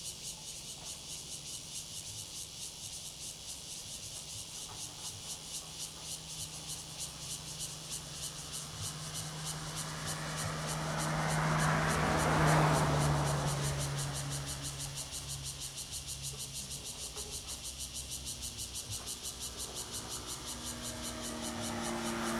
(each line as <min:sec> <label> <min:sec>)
0:00.0 Cicadas 0:22.3
0:04.8 Traffic Sound 0:22.3